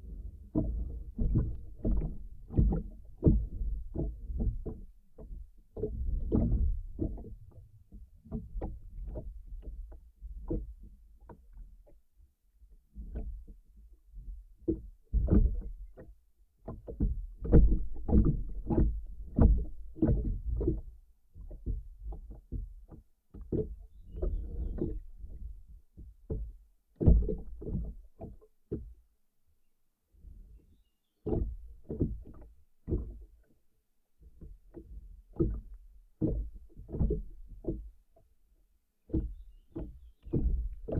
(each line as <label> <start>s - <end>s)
wind 0.0s - 40.9s
wooden boat being gently swayed by the water 0.0s - 40.9s